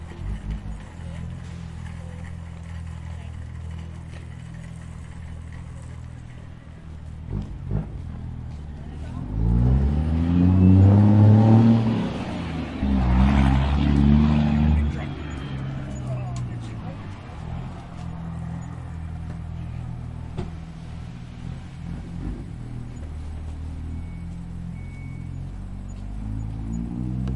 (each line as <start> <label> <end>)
0.0 Carts rolling 20.6
0.0 cars starting up 27.3
0.0 throaty sound of a truck's engine 27.3